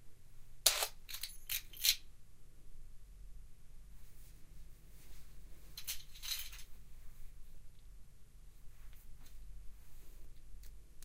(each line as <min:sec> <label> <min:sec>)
0:00.7 jingle them in the hand 0:02.0
0:00.7 pick up keys off the table 0:02.0
0:05.7 pick up keys off the table 0:06.7
0:05.8 jingle them in the hand 0:06.7